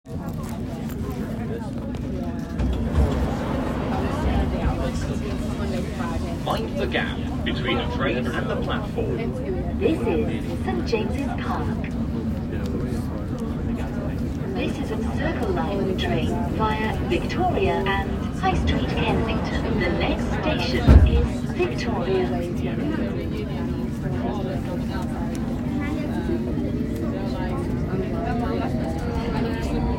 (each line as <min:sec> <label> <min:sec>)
0:02.8 Announcement 0:12.1
0:14.6 Announcement 0:22.4